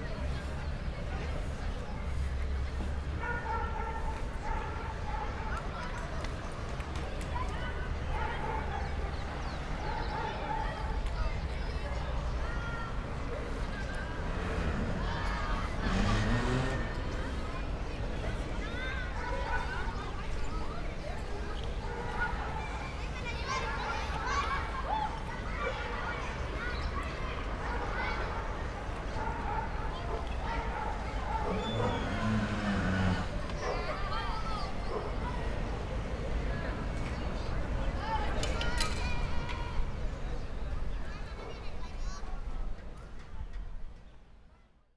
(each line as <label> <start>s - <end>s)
dogs 3.2s - 6.9s
gas truck 13.6s - 18.2s
dogs 21.6s - 22.8s
dogs 27.5s - 35.9s
gas truck 30.8s - 37.8s